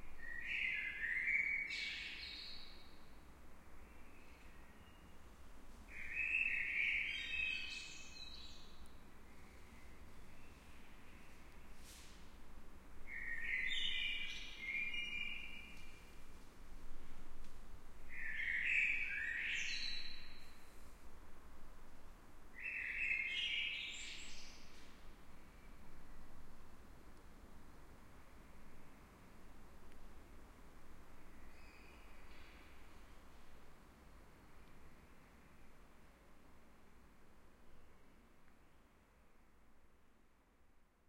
Blackbird singing 0.2 - 2.7
Blackbird singing 6.0 - 8.8
Blackbird singing 13.1 - 15.9
Blackbird singing 18.1 - 20.5
Blackbird singing 22.6 - 24.6

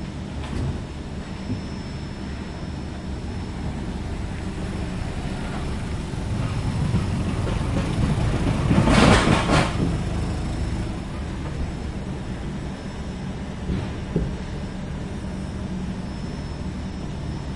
forklift 0.0 - 17.5

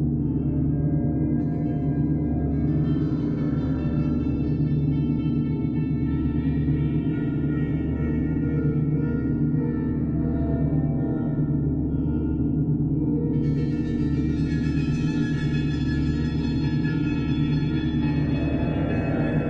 drones 0.0 - 19.4

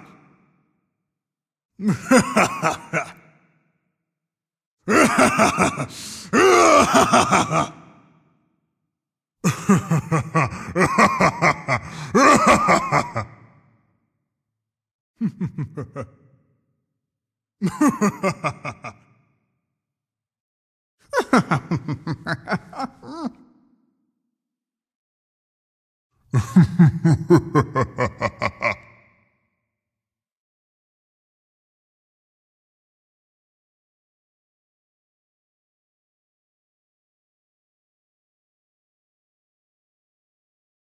maniacal bad guy laugh 1.8 - 3.2
maniacal bad guy laugh 4.9 - 7.8
maniacal bad guy laugh 9.5 - 13.4
maniacal bad guy laugh 15.2 - 16.1
maniacal bad guy laugh 17.6 - 19.0
maniacal bad guy laugh 21.2 - 23.4
maniacal bad guy laugh 26.4 - 28.9

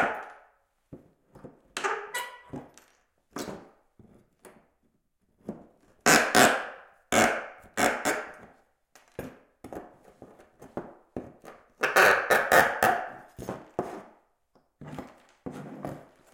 creaking and squeaking 1.8 - 2.9

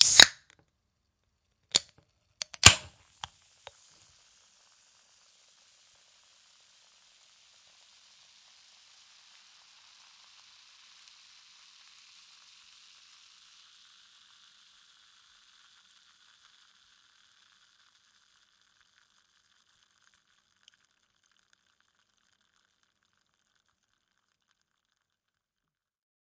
Opening A Fizzy Can 0.0 - 0.5
Opening A Fizzy Can 1.7 - 25.1

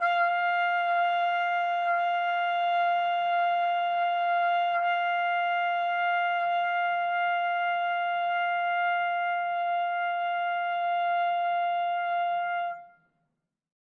Trumpet 0.0 - 13.0

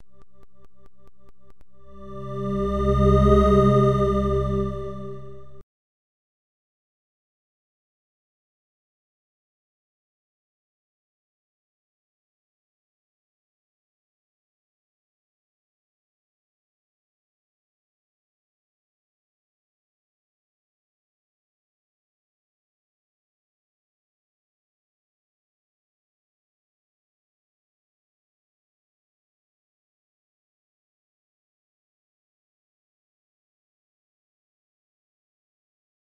song 1.7 - 5.6

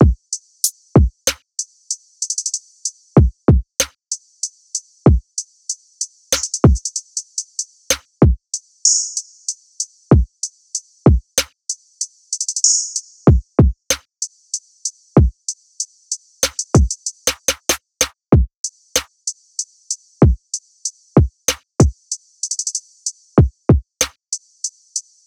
snare 1.3 - 1.5
snare 6.3 - 6.6
snare 7.9 - 8.1
snare 16.4 - 16.7
snare 17.3 - 18.2
snare 19.0 - 19.2
snare 21.5 - 21.7
snare 24.0 - 24.2

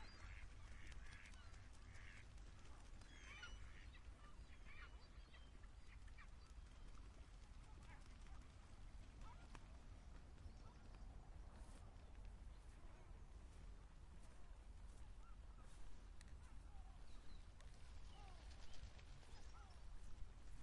ducks 0.0 - 9.8

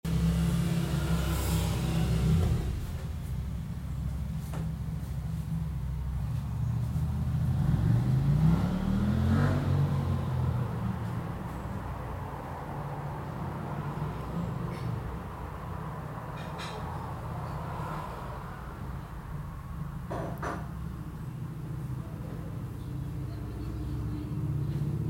busy street 0.0 - 25.0

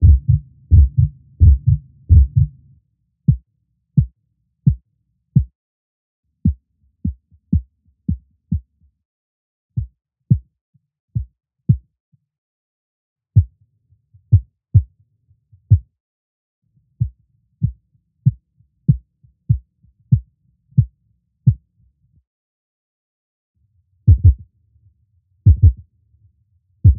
heartbeat 0.0 - 2.6
heartbeat 9.8 - 10.4
heartbeat 15.6 - 15.9
heartbeat 17.0 - 20.9
heartbeat 24.1 - 24.4
heartbeat 25.4 - 25.8

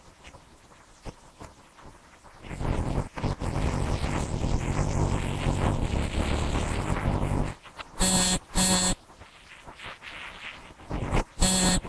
computer always makes an awful noise 3.3 - 9.0
computer always makes an awful noise 11.4 - 11.8

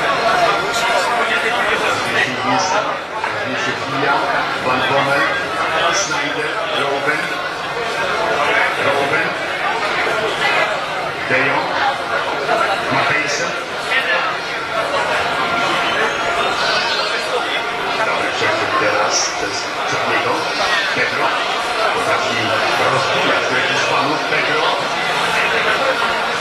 transmission of the final Fifa match 0.0 - 26.4
voices 0.0 - 26.4

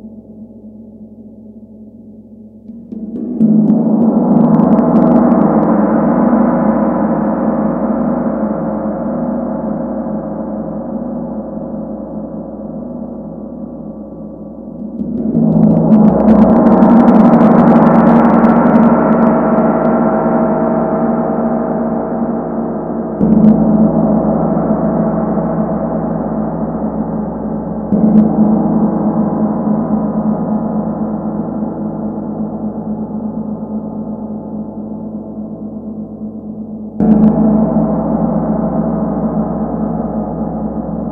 huge gong sound 14.8 - 20.0

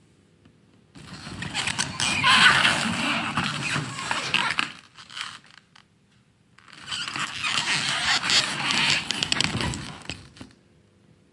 Noisy sliding plastic door 1.0 - 5.4
Noisy sliding plastic door 6.8 - 10.5

